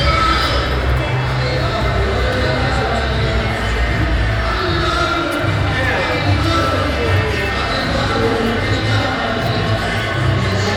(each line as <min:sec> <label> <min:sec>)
0:00.0 arabic scratched party dance music 0:10.7